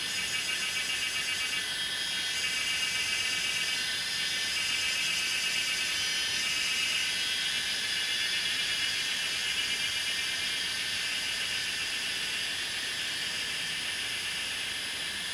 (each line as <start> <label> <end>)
0.0 Cicada 15.3